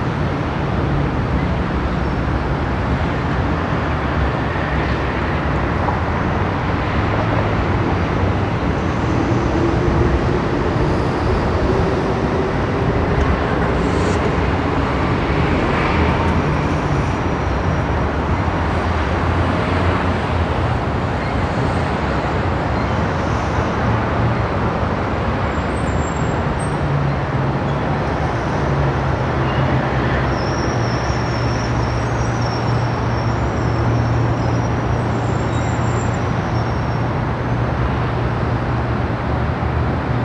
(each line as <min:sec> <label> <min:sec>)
0:00.0 traffic 0:40.2